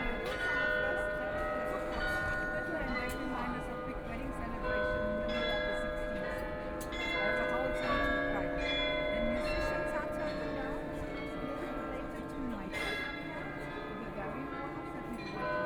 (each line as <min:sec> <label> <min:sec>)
0:00.0 Church bells 0:15.6